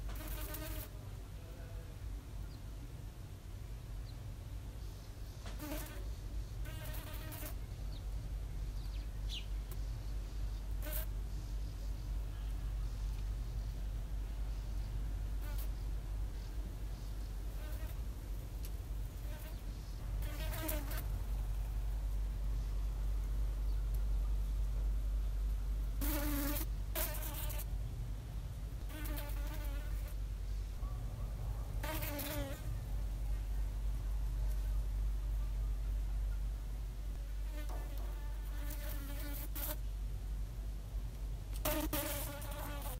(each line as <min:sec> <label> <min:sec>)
0:00.0 outdoor ambient noise 0:42.9